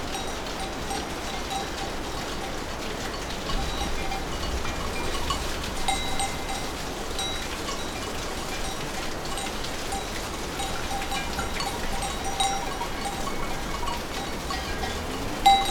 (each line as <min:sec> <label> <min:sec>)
0:00.0 fountain 0:15.7